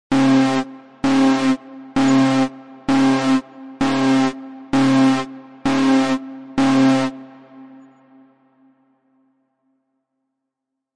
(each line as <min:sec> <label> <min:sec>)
0:00.1 alarm 0:08.7